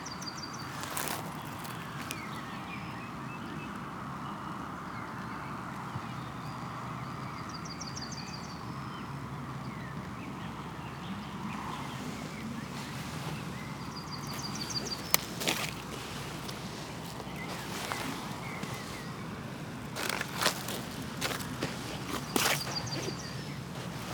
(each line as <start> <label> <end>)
0.3 walk on sand 2.6
11.7 walk on sand 24.1